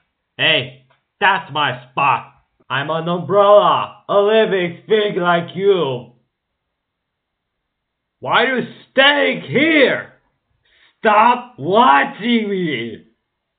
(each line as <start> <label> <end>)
11.0 umbrella complaining 13.0